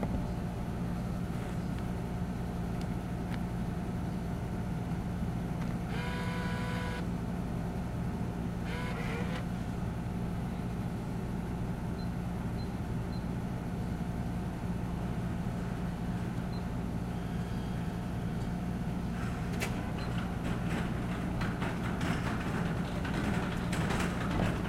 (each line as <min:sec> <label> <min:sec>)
0:19.2 cart approaches 0:24.6